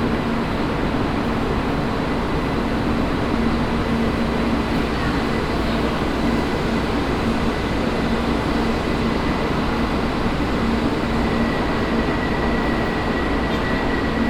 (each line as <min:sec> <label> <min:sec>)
0:00.0 trains passing by and arriving 0:14.2